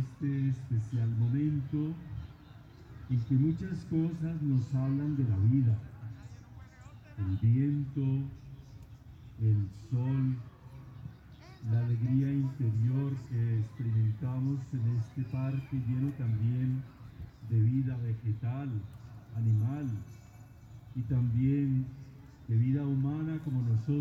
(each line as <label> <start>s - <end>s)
the father is praying 0.0s - 10.6s
birds sing in the background 0.0s - 24.0s
voices of the people passing by 0.0s - 24.0s
the father is praying 11.4s - 20.2s
ice cream cart ringing its bell 19.2s - 21.4s
the father is praying 20.9s - 24.0s